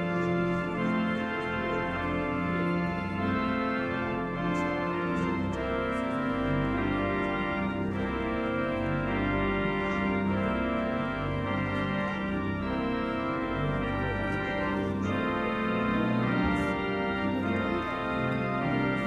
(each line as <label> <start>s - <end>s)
organ music concert 0.0s - 19.0s